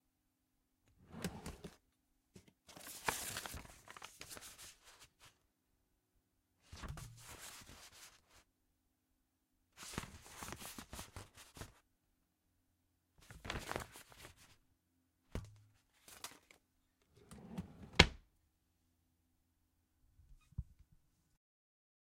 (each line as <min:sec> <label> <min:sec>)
0:01.0 Drawer opened and rifled around in 0:01.8
0:17.2 Drawer opened and rifled around in 0:18.2